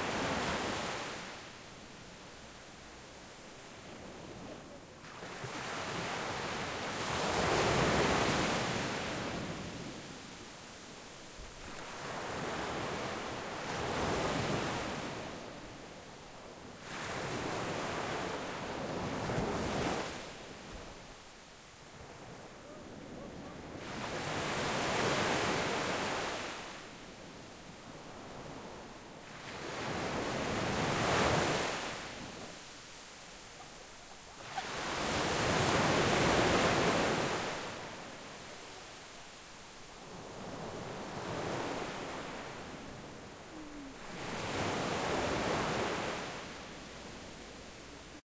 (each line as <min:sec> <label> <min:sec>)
0:00.0 sea waves 0:01.7
0:27.9 sea waves 0:48.2